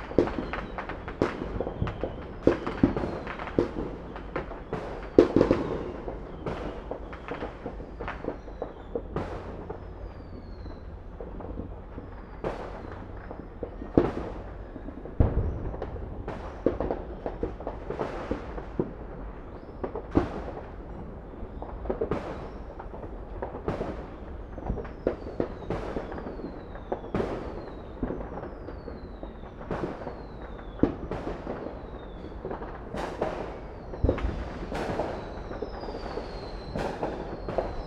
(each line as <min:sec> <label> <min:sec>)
0:00.0 fireworks 0:37.8